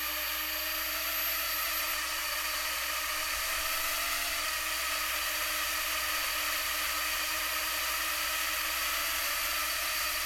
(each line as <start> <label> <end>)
0.0 four propellers on a small Hubsan drone 10.2